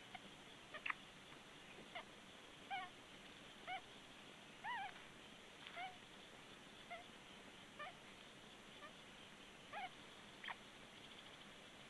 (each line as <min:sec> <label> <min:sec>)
0:00.0 Osprey nest with three chicks 0:11.8